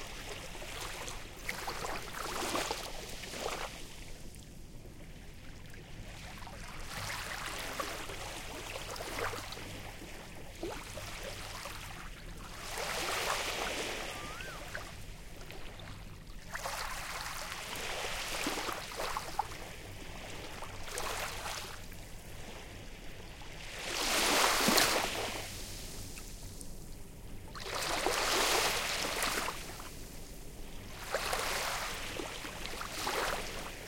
waves 0.0 - 33.8
Asian Koel occasionally calling 14.0 - 14.8

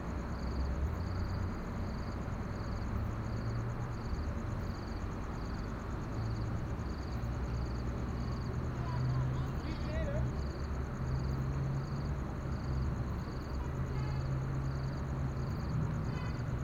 conversations 8.6 - 10.6

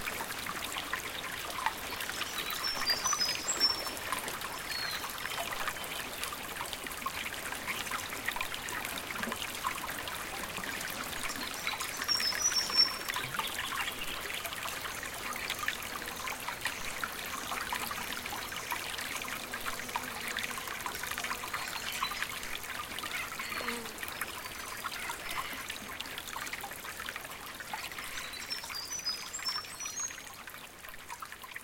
flowing stream 0.0 - 31.6
birds in the background 1.8 - 6.2

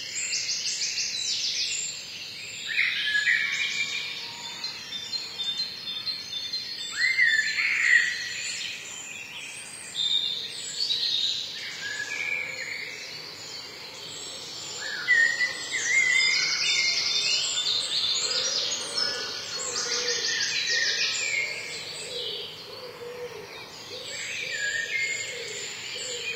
Bird song 0.0 - 26.3

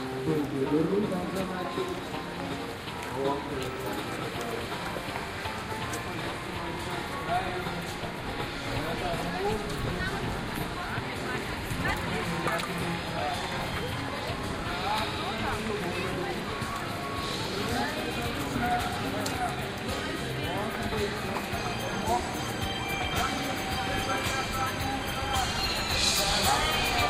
Karaoke 17.8 - 27.0

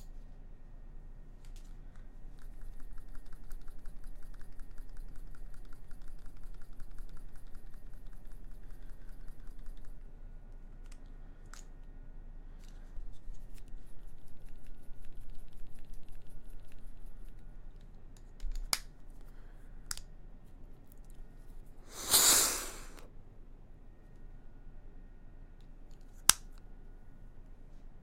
Using My Inhaler 21.9 - 23.0
shaking my inhaler 21.9 - 23.0

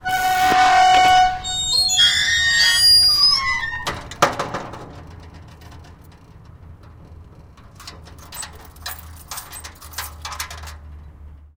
squeaks 0.0 - 4.4
Closing a metal gate and locking it 0.0 - 11.5
keys 7.6 - 10.8

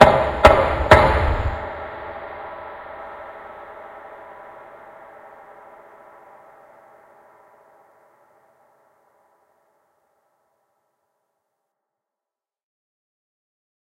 door knock echo 0.0 - 1.7

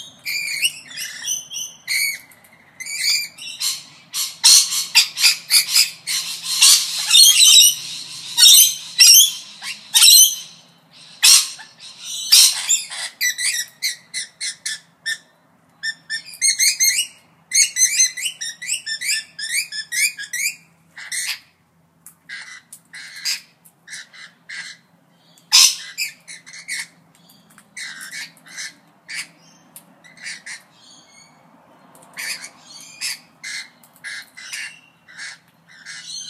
Rainbow Lorikeet Parrots fighting with loud shrills 0.2 - 21.4
Rainbow Lorikeet Parrots fighting with loud shrills 25.5 - 27.0

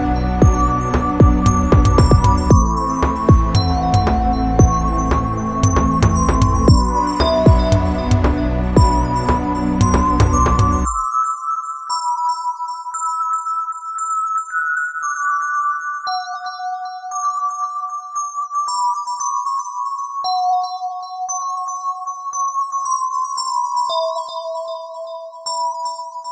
instrumental 0.0 - 11.8

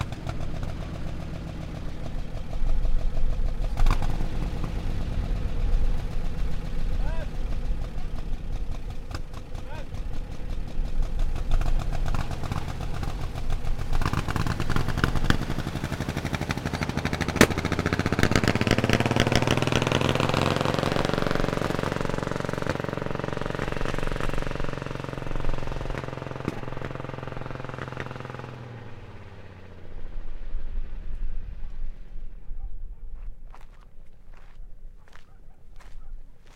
old engine from an old car driving away 0.0 - 36.5

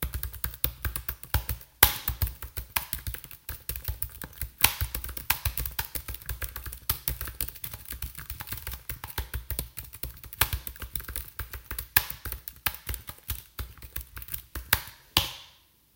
Computer Typing 0.0 - 14.9

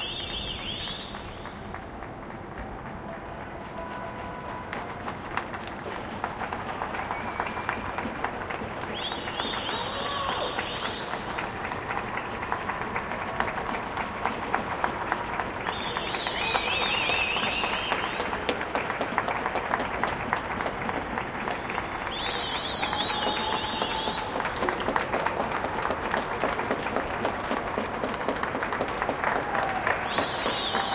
Cheers 4.7 - 30.9

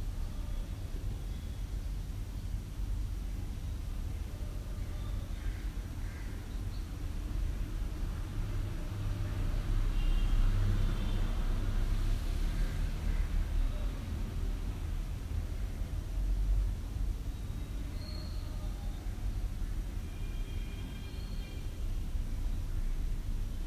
light passing vehicles 6.9 - 17.8

